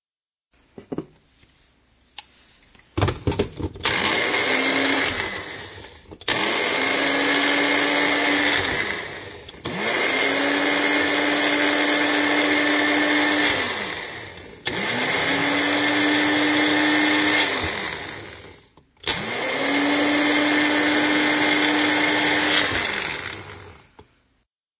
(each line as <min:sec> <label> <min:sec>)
0:03.8 Using a magic bullet or blender 0:23.9